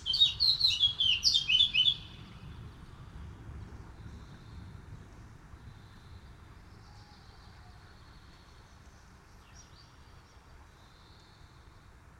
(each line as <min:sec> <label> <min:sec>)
0:00.0 Night birds 0:03.1
0:03.8 Night birds 0:12.1